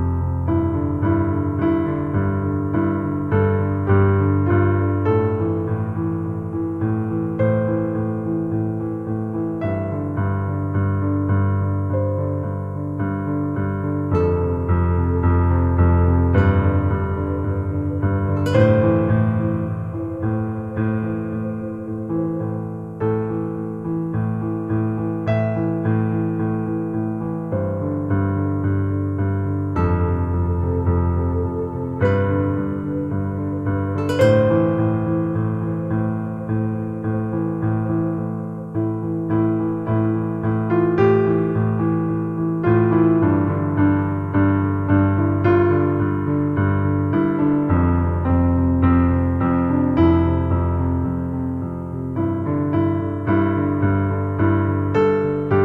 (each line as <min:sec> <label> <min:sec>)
0:00.0 piano 0:55.6